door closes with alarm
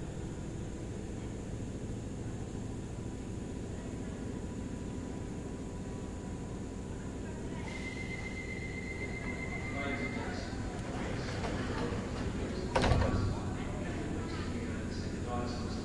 12.7s 13.2s

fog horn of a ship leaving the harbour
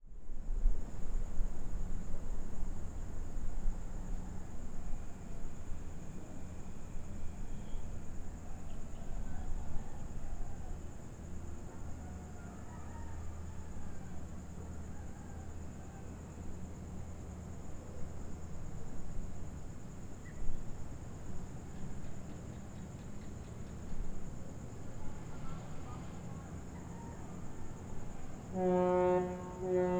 28.4s 29.9s

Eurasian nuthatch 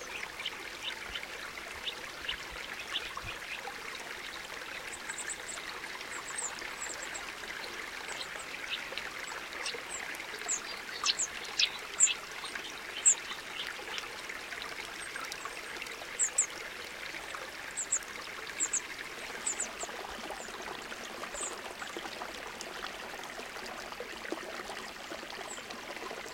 10.4s 12.2s

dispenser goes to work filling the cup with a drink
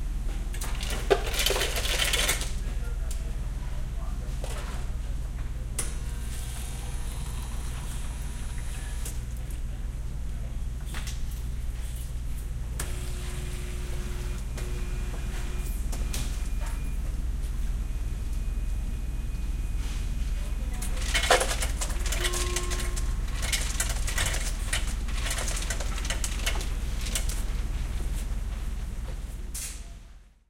0.6s 2.4s, 20.8s 27.5s

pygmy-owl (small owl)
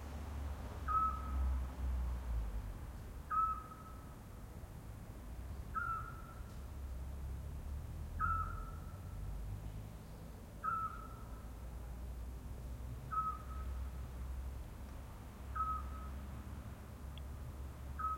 0.9s 1.4s, 3.3s 4.0s, 5.7s 6.4s, 8.2s 9.0s, 10.6s 11.3s, 13.1s 13.8s, 15.6s 16.1s

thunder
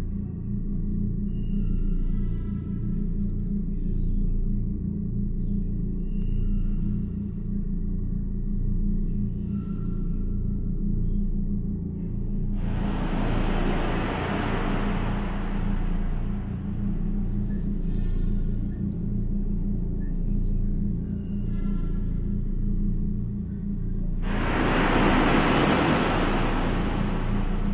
12.6s 17.8s, 24.2s 27.7s

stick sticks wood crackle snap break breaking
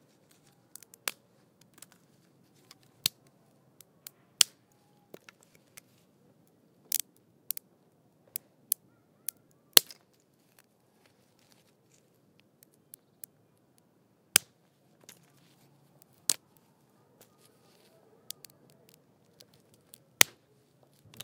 0.3s 2.0s, 6.9s 7.6s, 9.8s 10.2s, 16.0s 16.6s, 18.3s 20.4s

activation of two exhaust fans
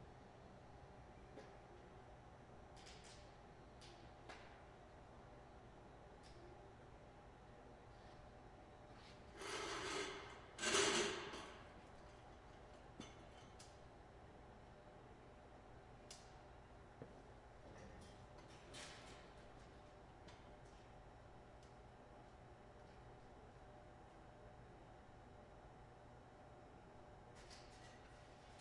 9.3s 11.8s

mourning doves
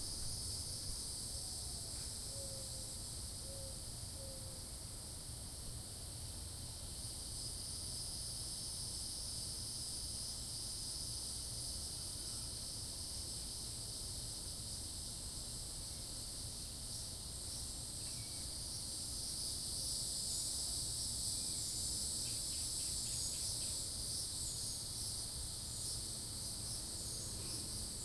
1.5s 4.6s

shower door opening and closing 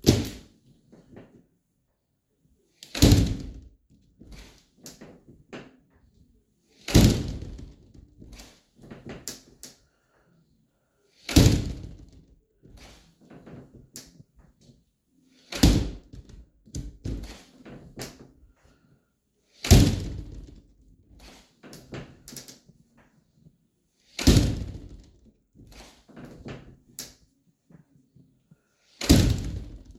19.6s 20.4s

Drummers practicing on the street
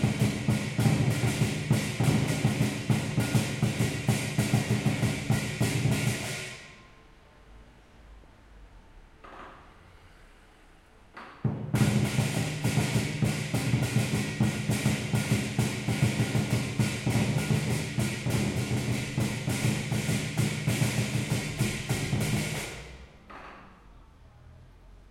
0.0s 6.8s, 11.2s 23.8s

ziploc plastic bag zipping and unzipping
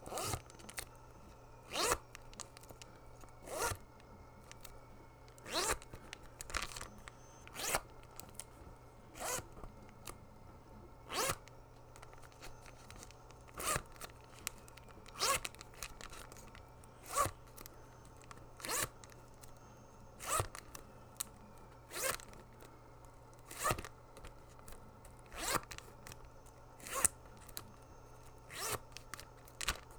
5.4s 6.9s

